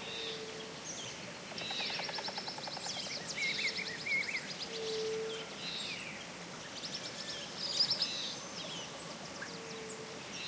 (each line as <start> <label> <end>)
0.0 Song and calls of birds 10.4
0.0 Waterfall noise in the background 10.4